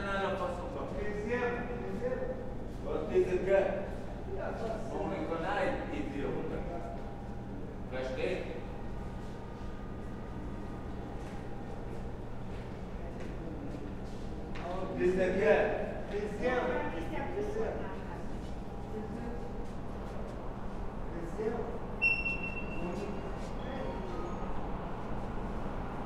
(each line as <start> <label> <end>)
0.0 walking through the large hall 26.0
21.8 main station is anounced 24.5